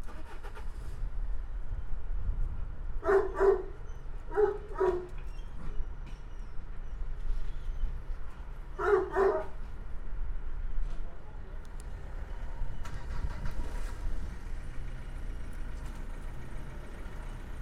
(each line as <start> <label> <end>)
0.0 tractor (pneumatic pump) 1.2
3.0 dogs 5.3
4.7 tractor (pneumatic pump) 8.5
8.8 dogs 9.6
12.3 tractor (pneumatic pump) 17.6